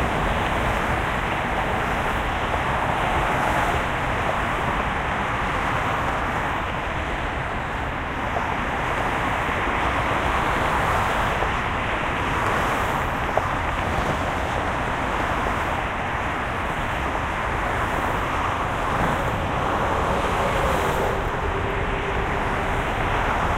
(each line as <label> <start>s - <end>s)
traffic 0.0s - 23.5s
trucks 0.0s - 23.5s